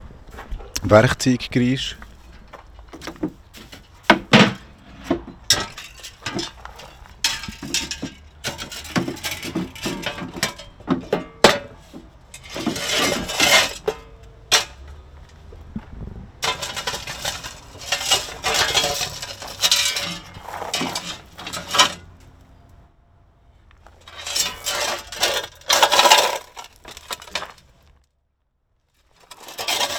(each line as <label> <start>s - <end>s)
gravel 0.0s - 29.9s
putting my hans on some gardening tools 1.8s - 15.8s
Shovel 12.4s - 14.0s
putting my hans on some gardening tools 16.4s - 22.8s
Shovel 16.4s - 22.0s
putting my hans on some gardening tools 23.8s - 28.0s
Shovel 24.1s - 27.7s
Shovel 29.2s - 29.9s